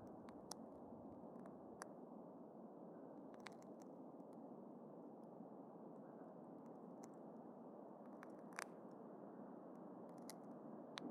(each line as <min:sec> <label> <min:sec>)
0:03.3 subtle cracking micro sound 0:03.9
0:08.1 subtle cracking micro sound 0:08.8
0:10.1 subtle cracking micro sound 0:11.1